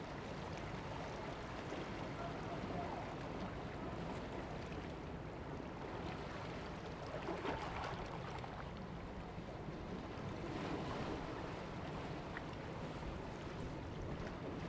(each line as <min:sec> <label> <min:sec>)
0:00.0 waves 0:14.6